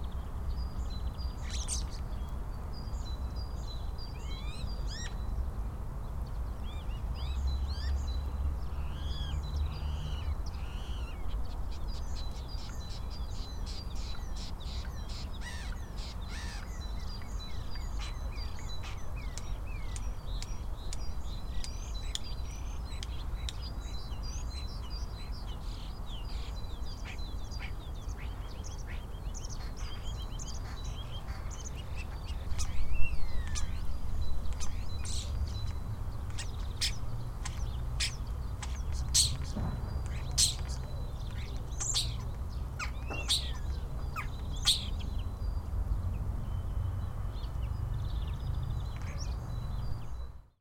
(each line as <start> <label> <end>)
0.0 distant traffic sounds 50.5
0.0 other birds in the background 50.6
34.5 Starling sings 45.1